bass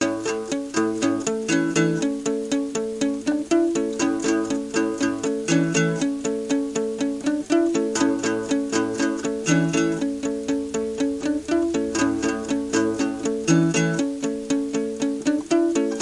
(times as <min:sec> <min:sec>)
0:10.8 0:15.6